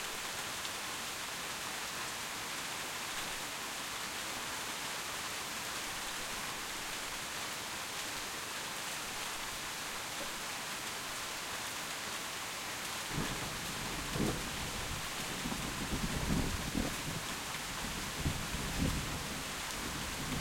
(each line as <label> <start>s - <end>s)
Rain on tin roof 0.0s - 20.4s
thunder 13.1s - 17.2s
thunder 18.2s - 19.1s